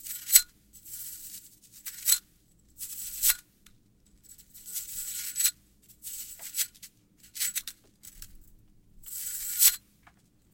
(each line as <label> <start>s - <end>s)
slinky 0.0s - 2.2s
slinky 2.8s - 3.4s
slinky 4.2s - 8.2s
slinky 9.0s - 9.8s